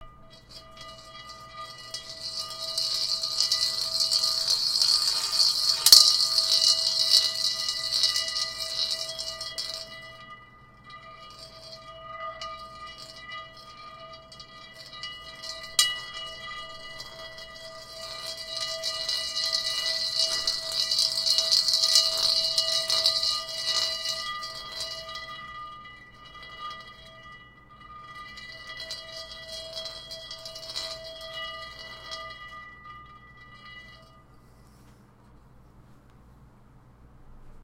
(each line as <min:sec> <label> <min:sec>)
0:00.0 glass marble spun in a wok cooking pot 0:34.8